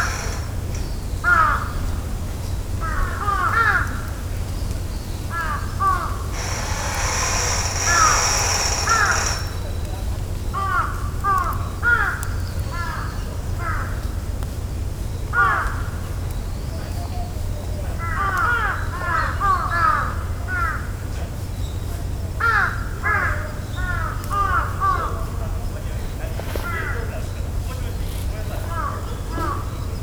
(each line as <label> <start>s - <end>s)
metal gate being open 0.0s - 1.0s
metal gate being open 6.3s - 9.8s